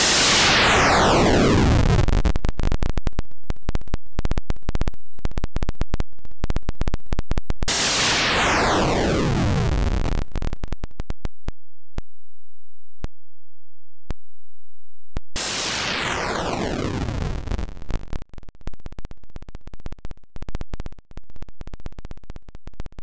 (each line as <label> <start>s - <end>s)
noise sweeps 0.0s - 2.9s
noise sweeps 7.7s - 10.6s
noise sweeps 15.4s - 18.2s